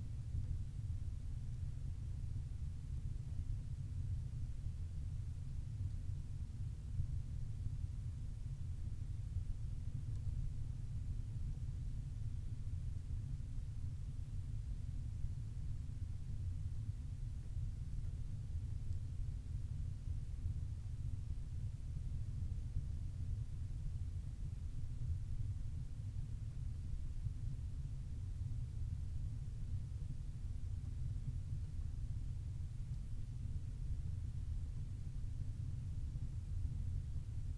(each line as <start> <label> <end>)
0.0 low drone of a small peat-burning stove 37.5